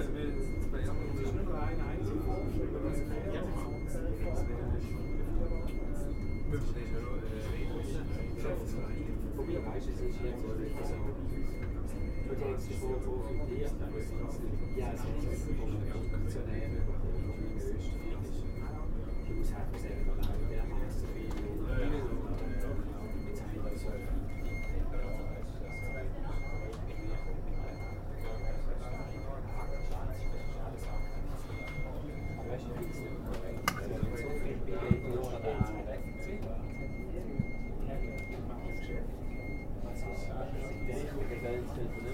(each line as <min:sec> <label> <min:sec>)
0:00.0 constant beeping from defective refrigeration 0:42.1